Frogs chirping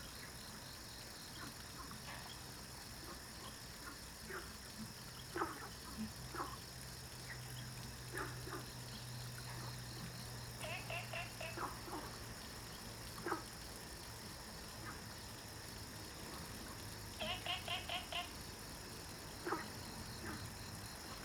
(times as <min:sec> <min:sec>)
0:05.1 0:21.2